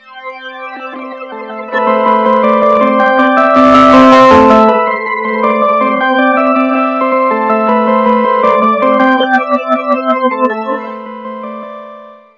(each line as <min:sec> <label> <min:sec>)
0:00.0 baby synth 0:11.8